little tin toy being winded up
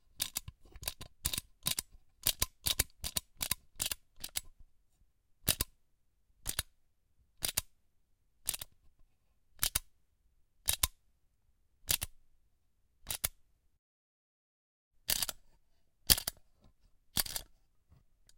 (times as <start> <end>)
17.2 17.4